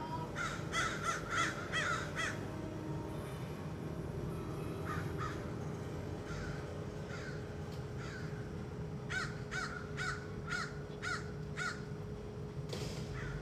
every single crow from hood did gather on walnut tree 0.4 - 2.6
every single crow from hood did gather on walnut tree 4.8 - 5.5
every single crow from hood did gather on walnut tree 6.2 - 12.0
every single crow from hood did gather on walnut tree 13.1 - 13.4

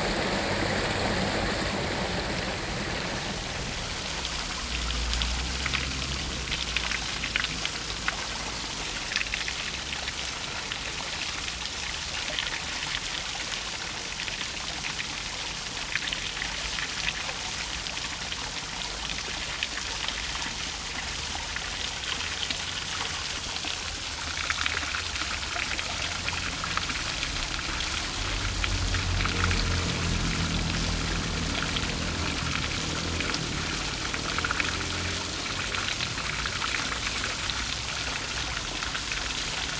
water 0.0 - 39.7

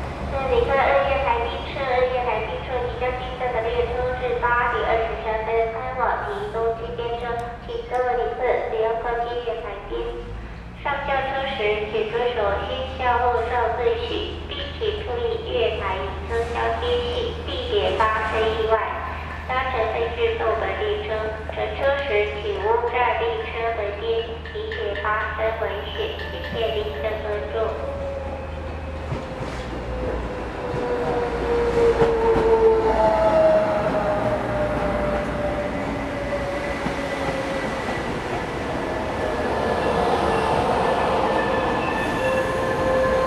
Station broadcast messages 0.4 - 31.0

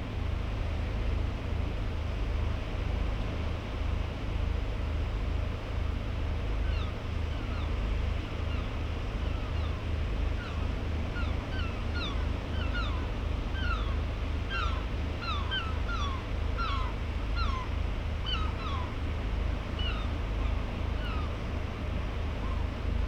herring gull 8.4 - 19.0
herring gull 19.6 - 21.5

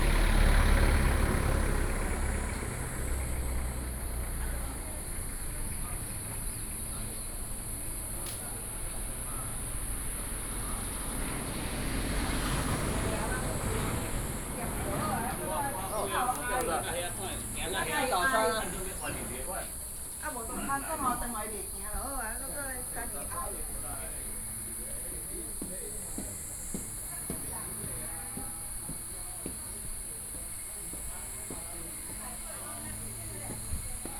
Traffic Sound 0.0 - 34.1
Walking 13.2 - 34.1

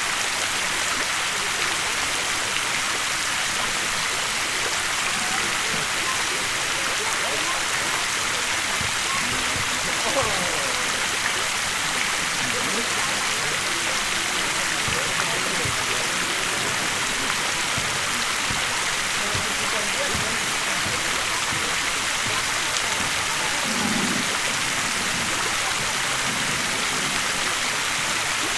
constant noise of the fountain 0.0 - 28.5
chatter of a group of people 0.6 - 28.5

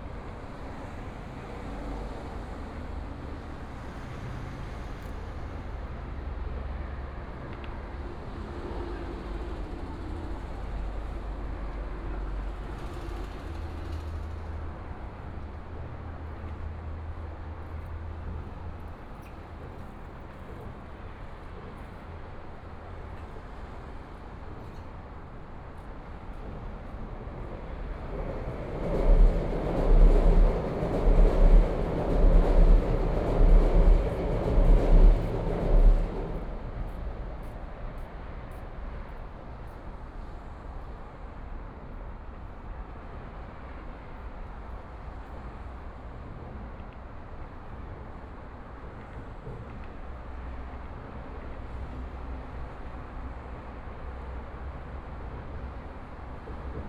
MRT train sounds 0.0 - 56.8
Traffic Sound 12.2 - 41.3

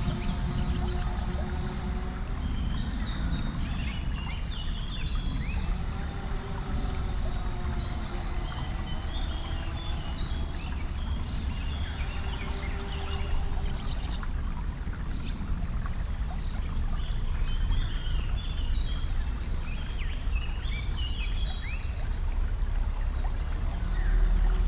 birds 0.0 - 24.6
river spring 0.0 - 24.6

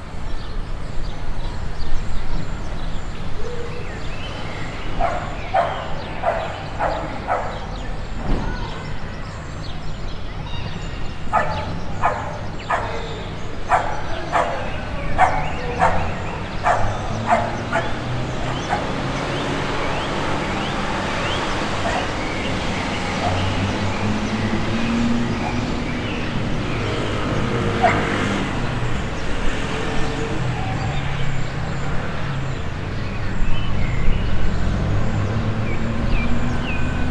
barking dog 5.0 - 7.8
barking dog 11.3 - 19.0
barking dog 27.8 - 28.2

